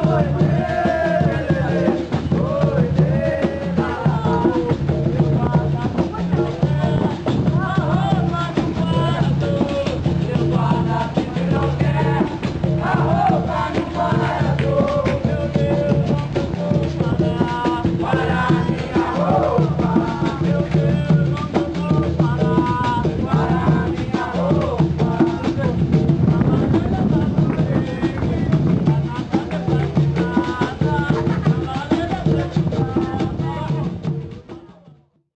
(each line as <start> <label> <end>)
0.0 Capoeira 35.1